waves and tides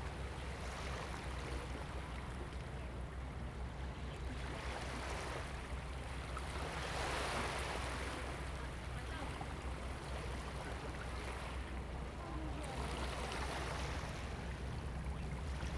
4.4s 15.7s

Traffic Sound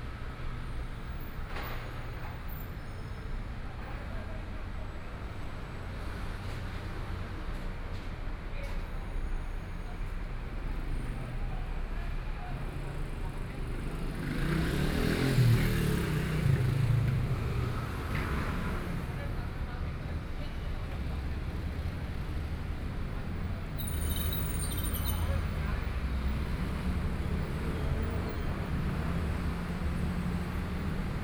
9.0s 31.2s

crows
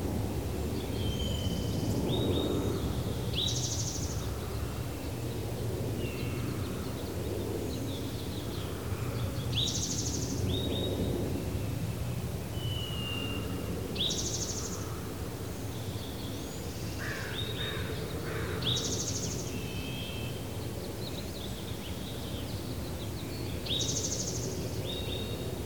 17.0s 18.8s

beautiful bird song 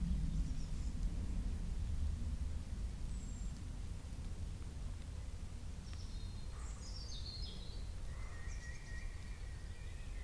0.0s 1.8s, 3.0s 3.8s, 5.0s 10.2s

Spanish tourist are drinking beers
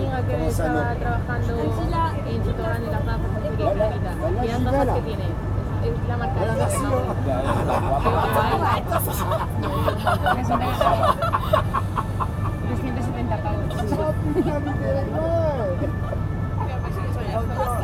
5.3s 17.8s

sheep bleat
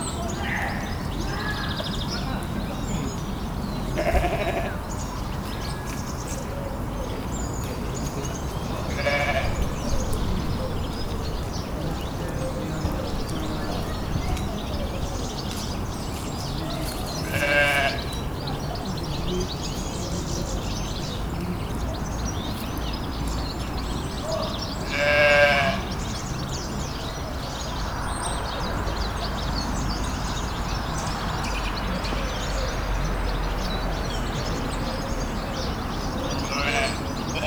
3.9s 4.8s, 8.9s 9.7s, 17.2s 18.1s, 24.8s 25.9s, 36.5s 37.4s

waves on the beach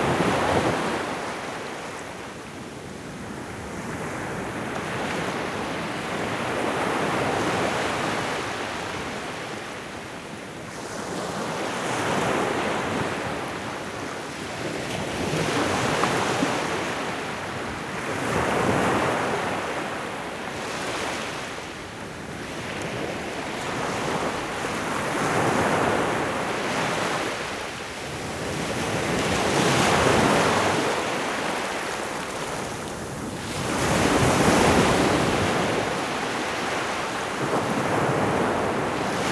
18.1s 39.3s

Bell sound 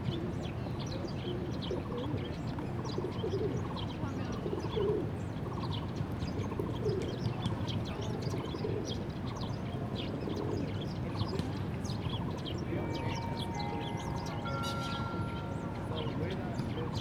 12.7s 17.0s

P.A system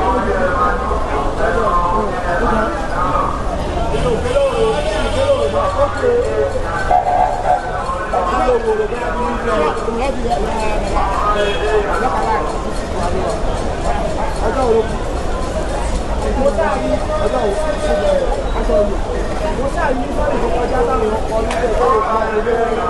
6.8s 8.4s

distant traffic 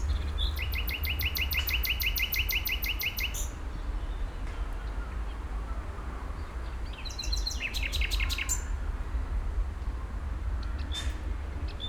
0.0s 4.2s

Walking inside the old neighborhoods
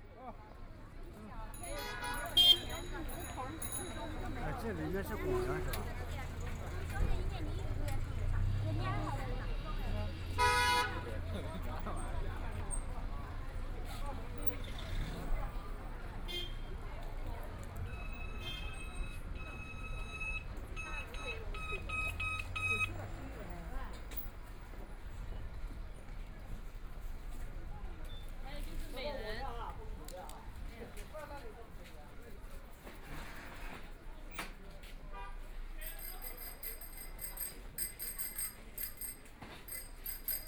2.8s 10.4s, 22.1s 40.4s

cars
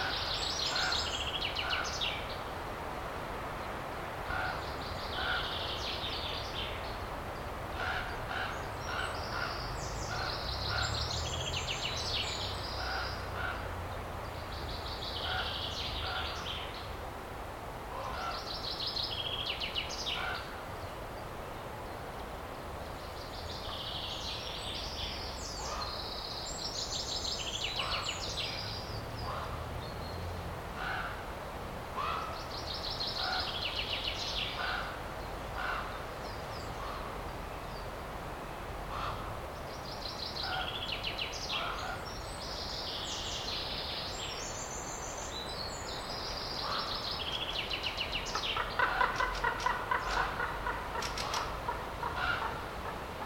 8.2s 16.6s, 27.8s 32.8s

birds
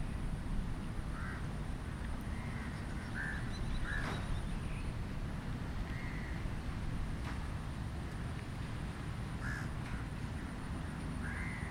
2.2s 6.5s, 9.4s 11.7s

